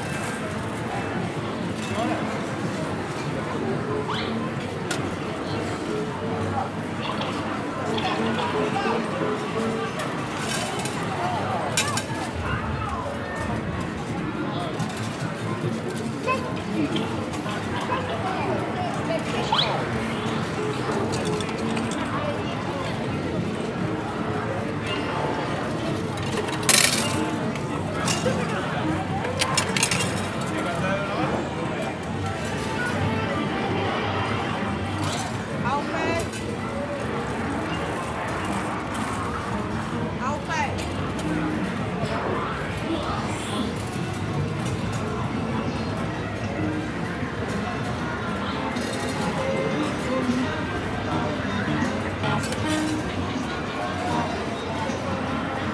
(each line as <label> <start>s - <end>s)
arcade machines 0.1s - 40.0s
pennies 26.2s - 27.3s